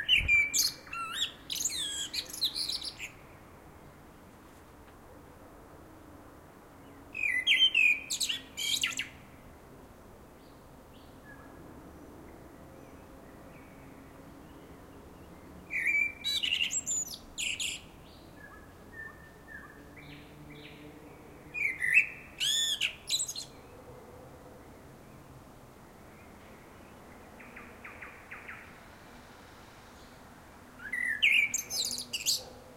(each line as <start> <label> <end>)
0.0 Bird singing 3.4
0.0 city sounds 32.7
6.8 Bird singing 9.2
12.8 Bird singing 23.8
26.1 Bird singing 28.8
30.8 Bird singing 32.6
32.3 dogs 32.7